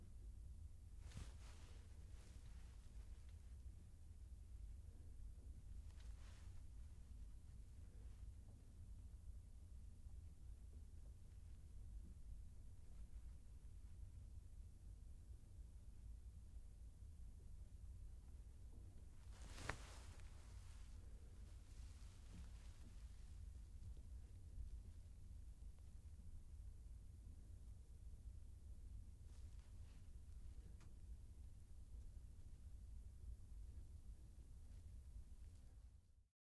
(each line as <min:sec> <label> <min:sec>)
0:19.2 jacket shifting as they move 0:20.9